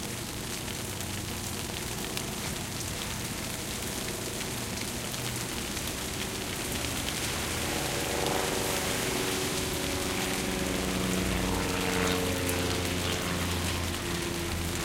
0.0s low hum of the A/C 14.8s
0.0s plane 14.8s
0.0s rain drop on the bushes 14.8s
6.3s car passing by 14.8s

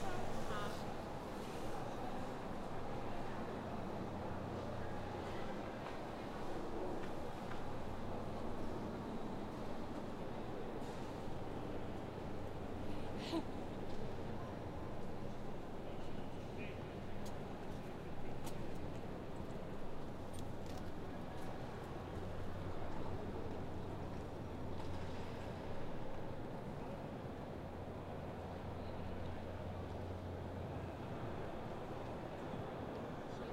0.0s train 33.5s

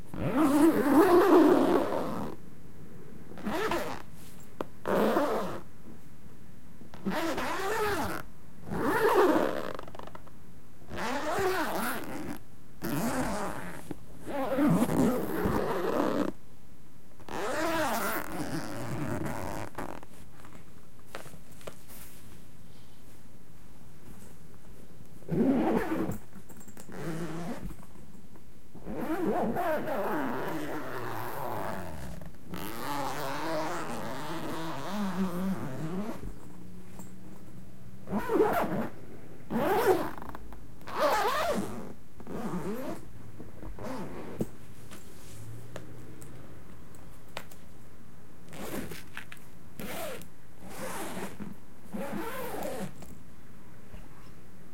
17.3s zippers of a violin case 20.0s
25.3s zippers of a violin case 26.2s
28.8s zippers of a violin case 36.2s
49.8s zippers of a violin case 53.0s

